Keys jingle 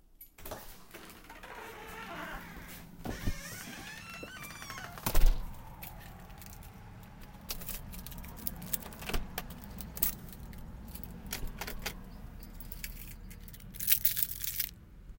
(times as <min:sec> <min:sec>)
0:07.6 0:14.7